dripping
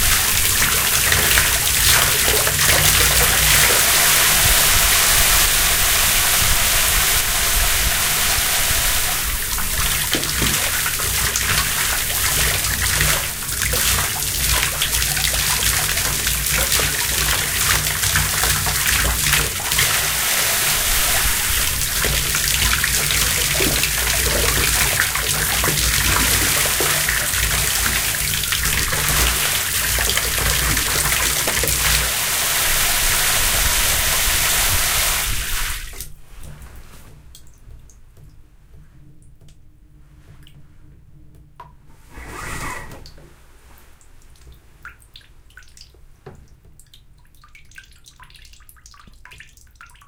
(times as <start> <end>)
0.0 36.6